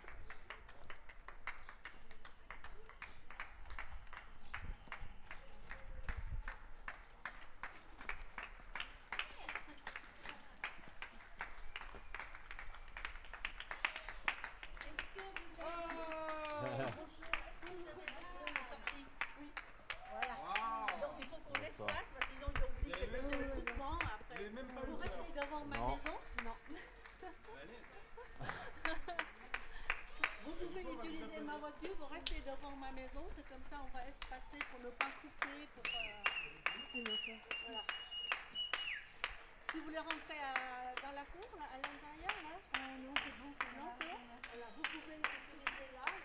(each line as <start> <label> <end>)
13.8 Voices 39.0